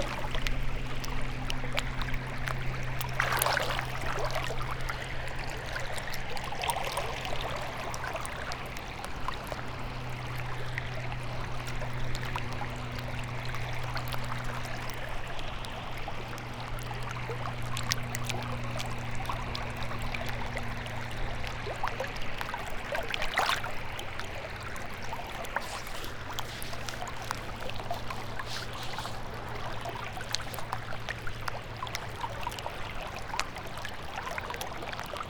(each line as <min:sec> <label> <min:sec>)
0:00.0 alluvial tree waves 0:16.0
0:00.0 river 0:35.2
0:22.9 alluvial tree waves 0:33.4